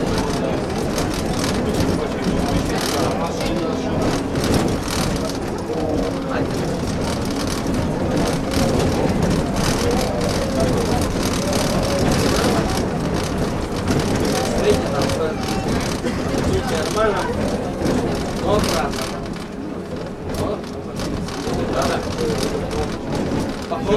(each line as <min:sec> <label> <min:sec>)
0:00.0 Trolleybus ride 0:23.9